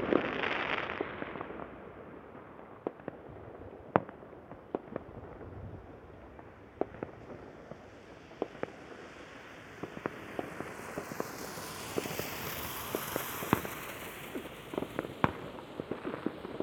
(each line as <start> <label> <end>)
0.0 fireworks 16.6